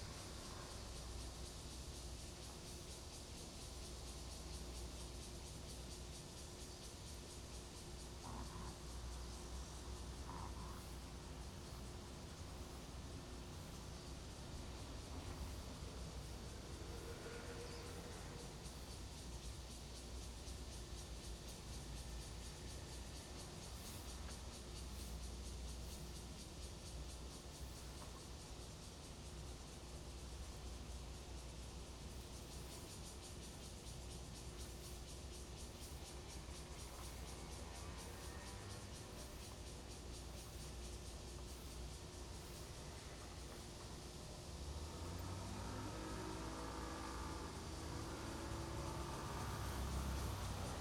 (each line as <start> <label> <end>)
0.0 Cicada cry 50.8
8.2 traffic sound 26.4
29.7 traffic sound 50.8